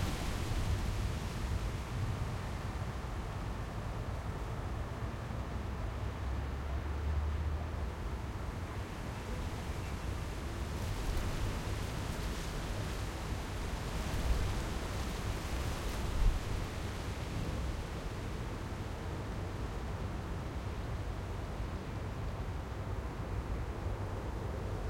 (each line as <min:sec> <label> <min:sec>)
0:00.0 strong wind 0:04.8
0:08.9 strong wind 0:21.9